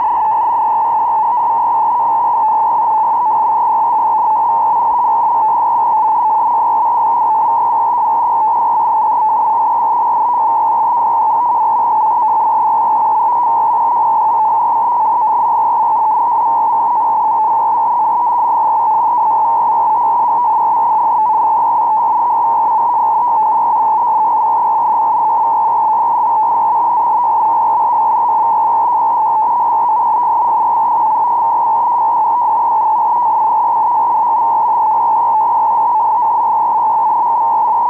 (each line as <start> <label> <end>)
0.0 data transmissions over shortwave or HF radio frequencies 37.8